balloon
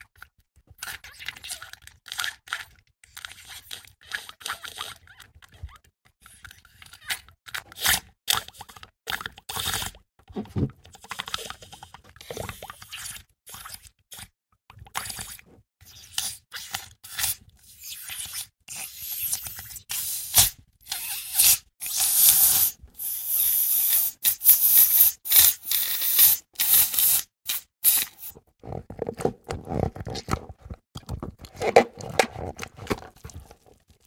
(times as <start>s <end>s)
19.0s 30.5s